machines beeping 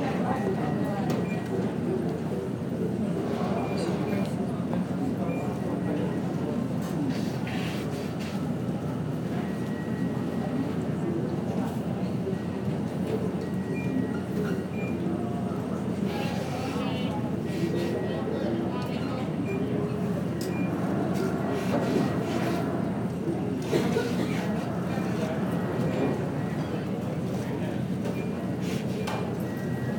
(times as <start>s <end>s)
13.3s 15.4s, 16.2s 29.9s